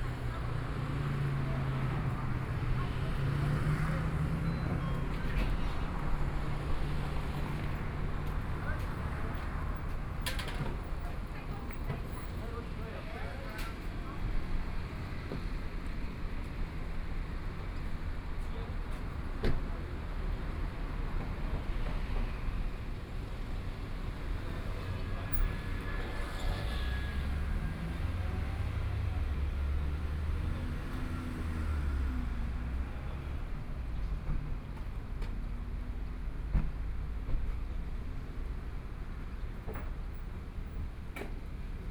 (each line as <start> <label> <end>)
0.0 Traffic Sound 41.9